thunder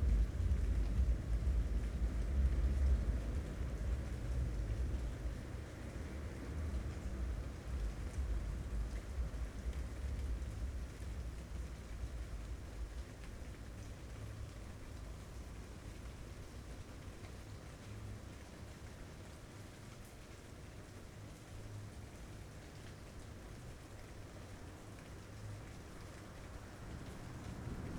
0.0 4.0

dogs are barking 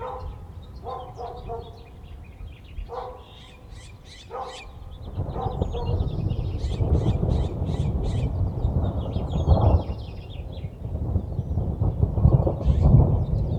0.0 2.0, 2.8 6.1

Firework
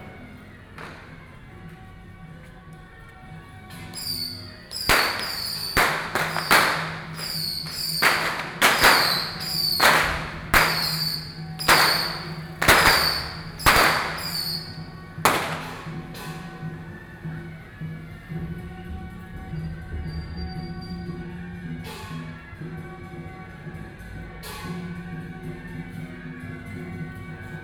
0.0 1.4, 3.7 16.7

